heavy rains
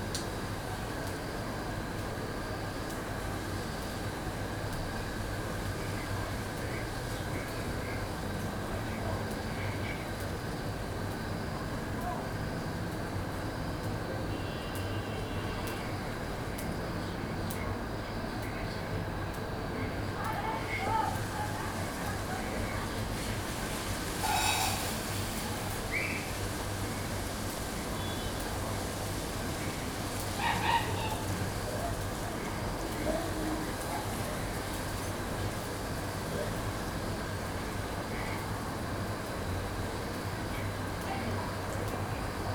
0:20.2 0:42.5

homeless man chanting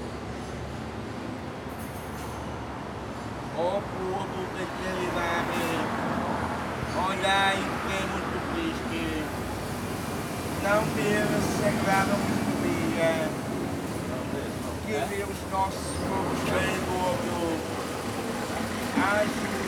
0:10.6 0:13.4

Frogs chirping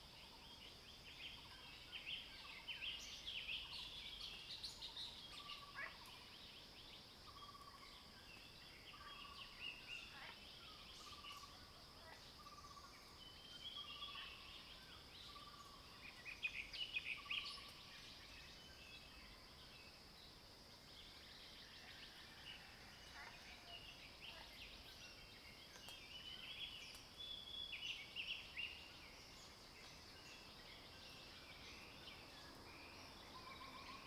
0:08.9 0:20.1, 0:20.8 0:34.0

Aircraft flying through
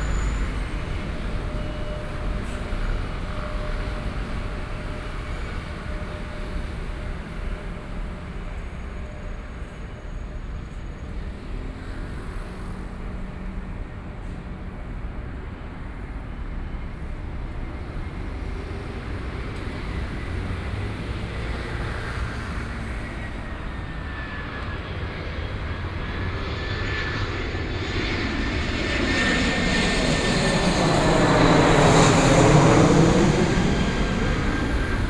0:22.6 0:35.0

